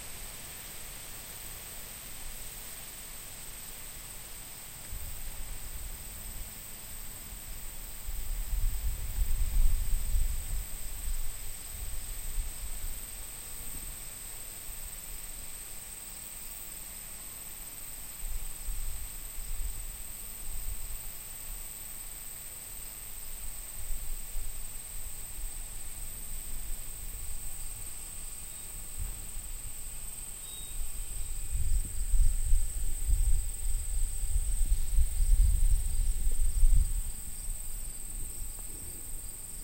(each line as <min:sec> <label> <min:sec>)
0:00.0 Wind blows through tall grass 0:39.6
0:03.1 Bugs 0:39.6